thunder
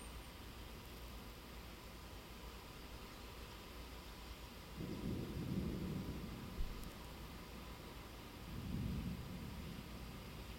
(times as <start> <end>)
4.8 6.8, 8.5 10.0